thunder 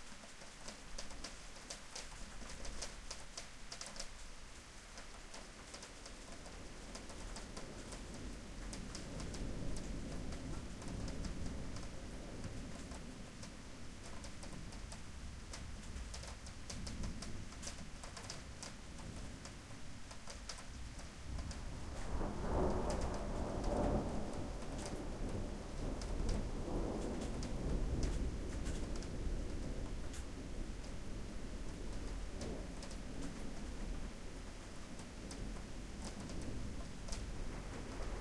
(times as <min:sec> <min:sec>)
0:07.0 0:13.2, 0:21.2 0:38.2